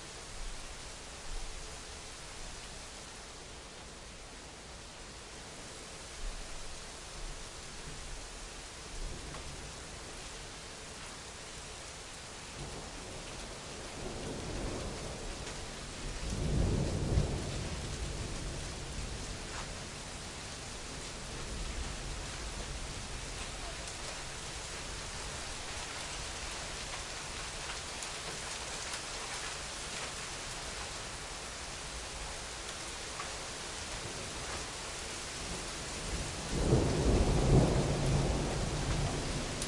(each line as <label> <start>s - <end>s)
rain 0.0s - 39.6s
thunder 12.6s - 19.7s
thunder 35.4s - 39.6s